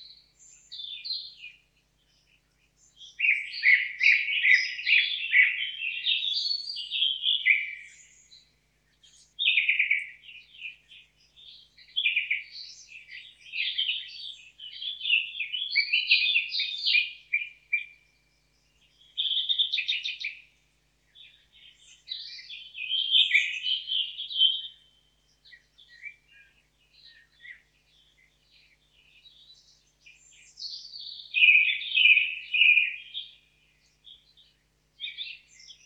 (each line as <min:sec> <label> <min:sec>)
0:00.0 Bird Singing with hot loud voices 0:35.8